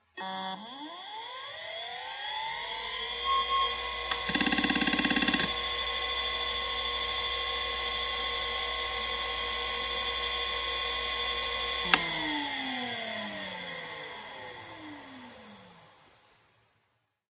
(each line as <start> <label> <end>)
4.0 hard drive 5.8